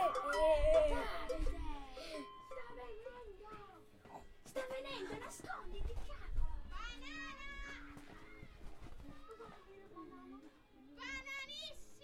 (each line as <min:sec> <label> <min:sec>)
0:00.0 children playing with bells 0:06.1